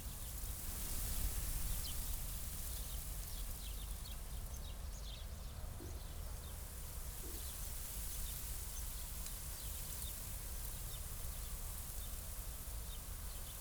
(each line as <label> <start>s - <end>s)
light wind in a grainfield 0.0s - 13.6s